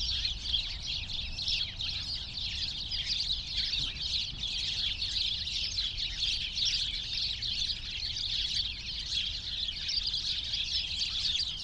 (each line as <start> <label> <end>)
0.0 many sparrows (Hausspatzen) in a bush 11.6